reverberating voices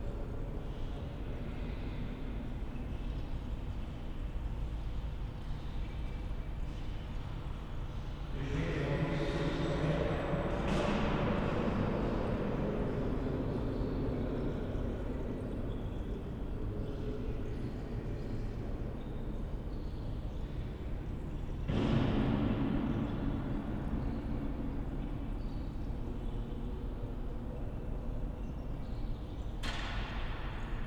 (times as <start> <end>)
8.4 18.2